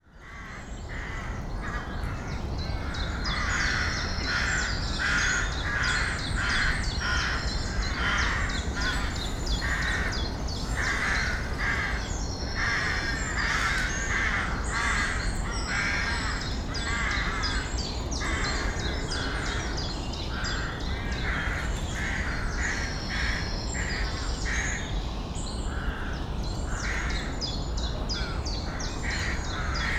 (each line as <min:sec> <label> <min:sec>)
0:00.1 birds 0:29.9